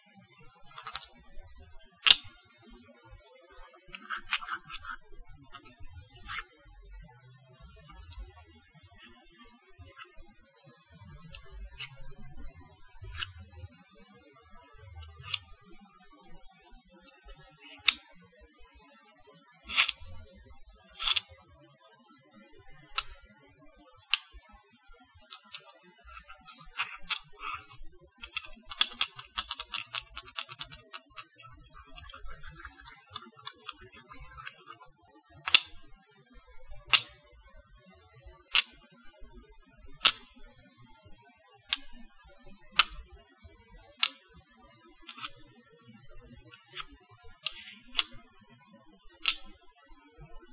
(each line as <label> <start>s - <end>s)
porcelain clinks slides 0.7s - 1.1s
porcelain clinks slides 2.0s - 2.3s
porcelain clinks slides 3.5s - 6.4s
porcelain clinks slides 11.2s - 12.0s
porcelain clinks slides 13.1s - 13.3s
porcelain clinks slides 15.0s - 15.4s
porcelain clinks slides 17.1s - 18.0s
porcelain clinks slides 19.7s - 20.0s
porcelain clinks slides 21.0s - 21.3s
porcelain clinks slides 25.3s - 34.9s
porcelain clinks slides 35.5s - 35.7s
porcelain clinks slides 36.9s - 37.1s
porcelain clinks slides 45.1s - 45.4s
porcelain clinks slides 46.5s - 48.2s
porcelain clinks slides 49.2s - 49.4s